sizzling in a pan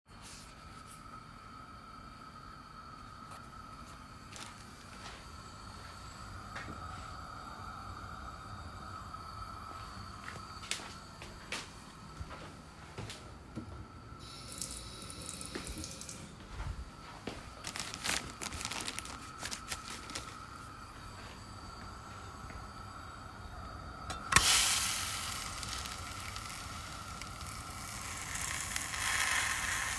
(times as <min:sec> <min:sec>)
0:14.2 0:16.2, 0:17.6 0:29.9